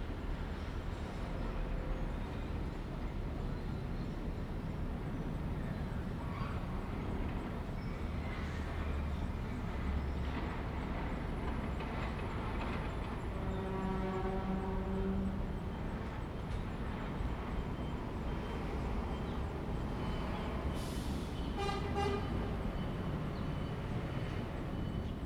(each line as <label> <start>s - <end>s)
traffic sound 15.4s - 25.2s